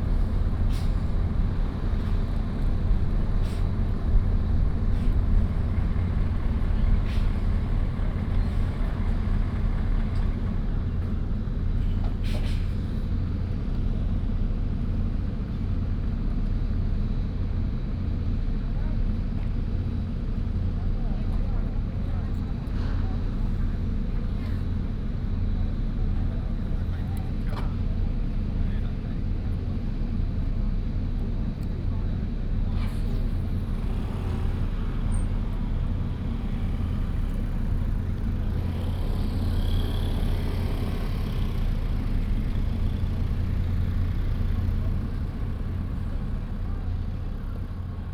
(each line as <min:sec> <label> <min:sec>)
0:00.0 Traffic Sound 0:13.3
0:32.2 Traffic Sound 0:48.1